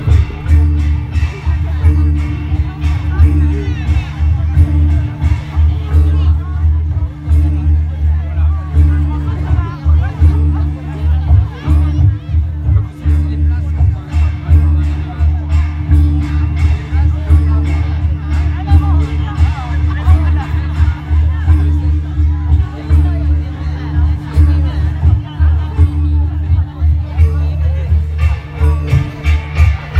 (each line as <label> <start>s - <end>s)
Bells ringing 0.0s - 29.9s
metal chimes 0.0s - 29.9s